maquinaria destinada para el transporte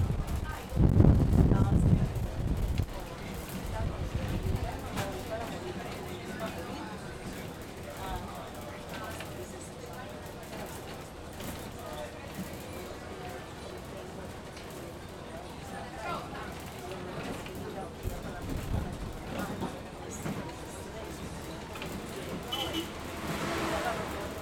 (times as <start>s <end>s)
18.4s 24.4s